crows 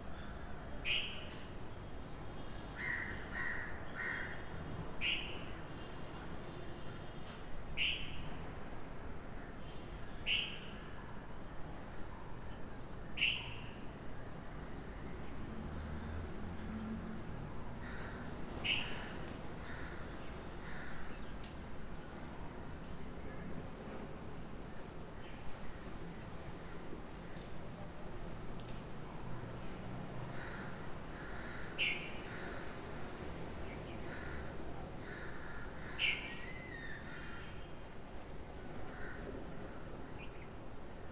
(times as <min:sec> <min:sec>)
0:02.8 0:04.4, 0:17.8 0:21.2, 0:30.3 0:32.8, 0:34.0 0:37.6